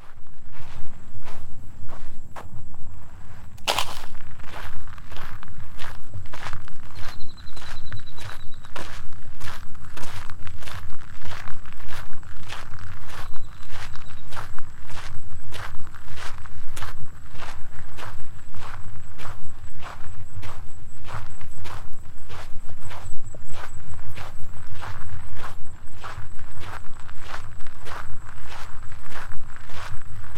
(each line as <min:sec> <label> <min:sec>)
0:03.4 Trail walking 0:06.5